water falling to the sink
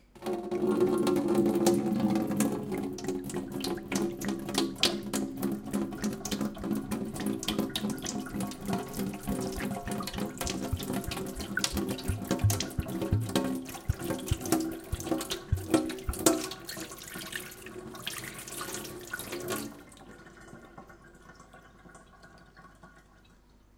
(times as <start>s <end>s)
0.9s 19.8s